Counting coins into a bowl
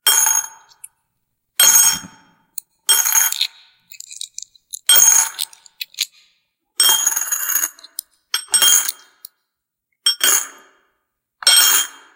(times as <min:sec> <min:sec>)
0:02.9 0:09.3